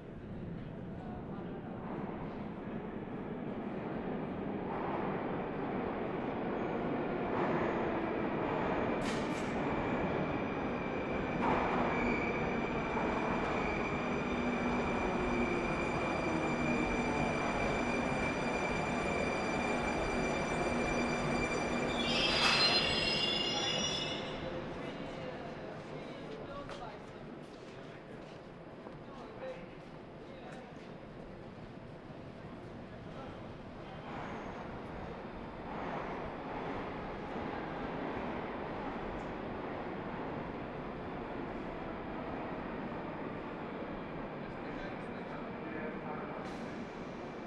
Trains Traffic 1.6 - 26.5
Trains Traffic 31.1 - 47.4

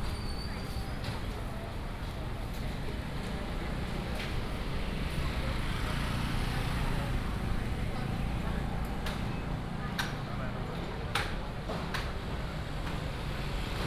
Walking in the market 0.0 - 13.8
motorcycle 3.3 - 9.9

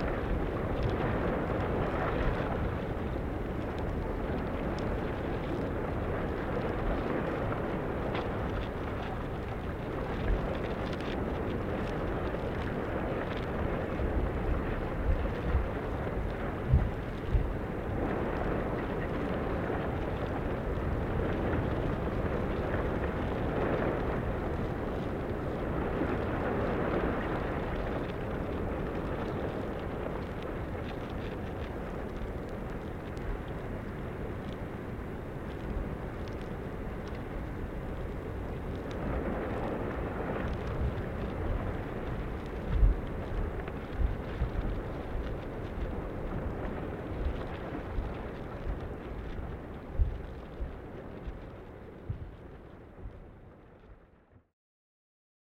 windy day 0.0 - 54.4

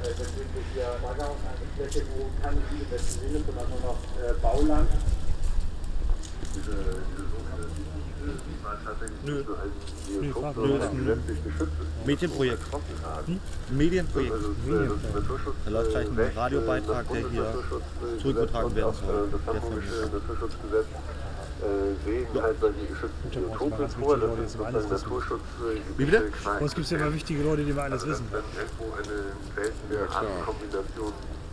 Polizei erscheint und erkundigt sich 0.0 - 31.5

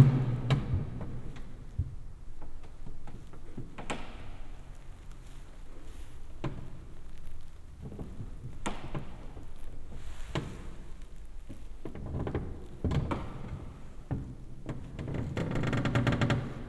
crackle of the wood reverberated in the church 0.0 - 16.6
rustle of my jacket 4.4 - 11.9

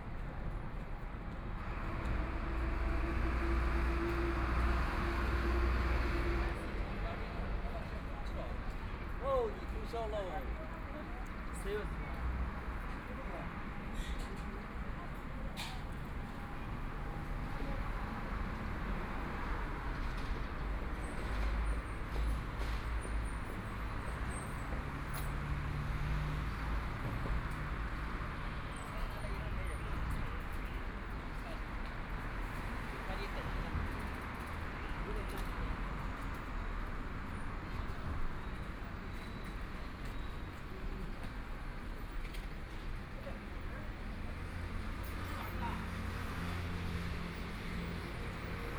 Walking on the street 0.0 - 48.7
Traffic Sound 0.1 - 48.7

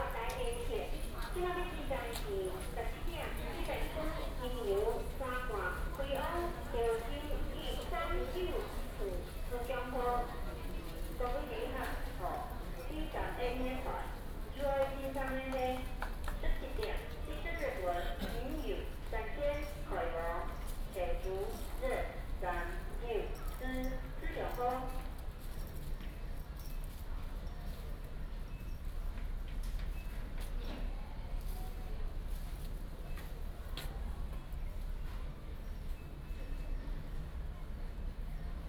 The train arrives and departs 25.0 - 38.6

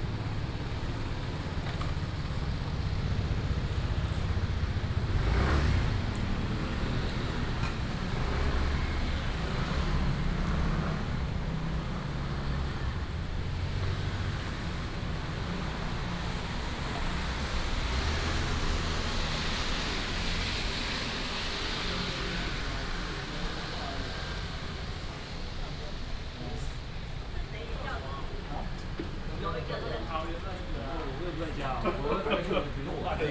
Traffic sound 0.0 - 33.3
Walking in the rain on the road 0.0 - 33.3

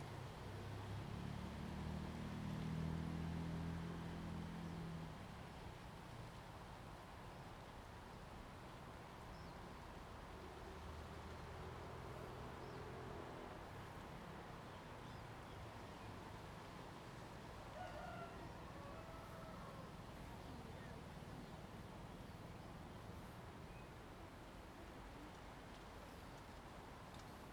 Wind 0.0 - 27.5

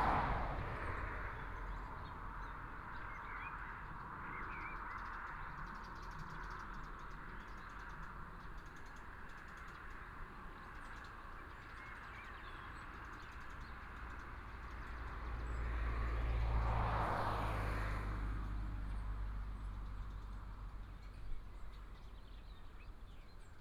Traffic Sound 0.0 - 4.2
Traffic Sound 13.0 - 22.4
Birdsong 19.6 - 23.6

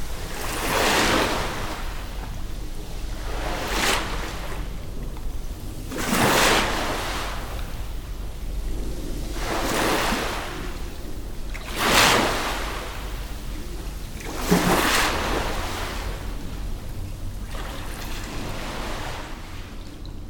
Mild wind 0.0 - 20.2
Sea waves under a small passenger bridge 0.0 - 20.2

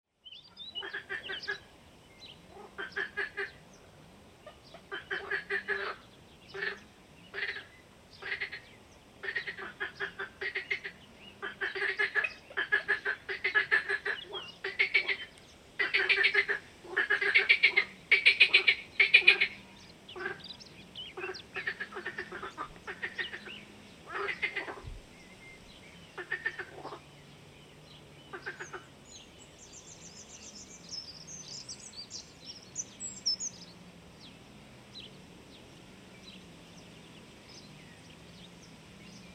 Frogs 4.4 - 20.5
Frogs 21.1 - 25.0
Frogs 26.2 - 27.1
Frogs 28.3 - 28.9

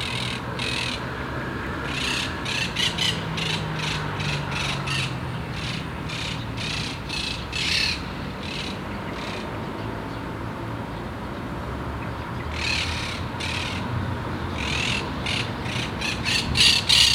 birds in the high palm trees 0.0 - 17.1
cars 0.0 - 17.1
motorcycles from the nearby street 0.0 - 17.1

